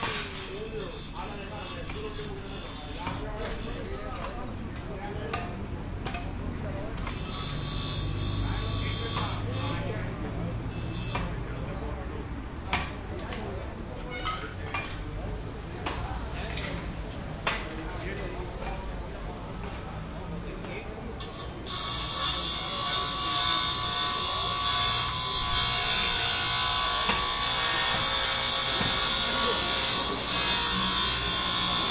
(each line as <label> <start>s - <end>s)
working on car parts with disc grinder 0.0s - 4.1s
working on car parts with disc grinder 6.9s - 11.4s
working on car parts with disc grinder 21.2s - 31.9s